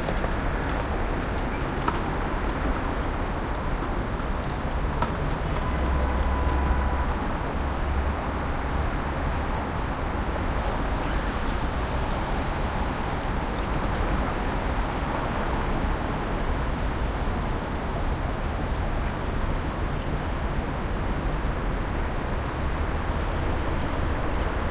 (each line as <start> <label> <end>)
0.0 traffic 24.7